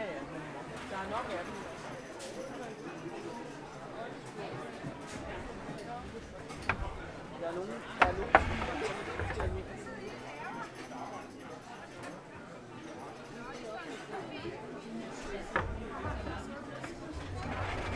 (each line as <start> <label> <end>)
0.0 Constant voice background noise 17.9
4.8 Close tapping sounds from people searching 10.0
15.2 Close tapping sounds from people searching 17.9